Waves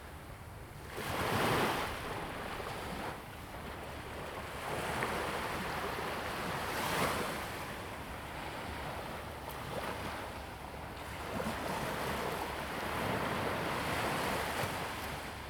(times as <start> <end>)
4.0 15.4